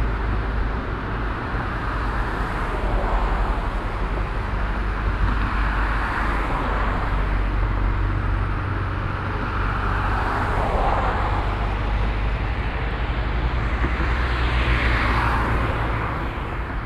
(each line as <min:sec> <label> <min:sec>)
0:00.0 traffic passing by 0:16.8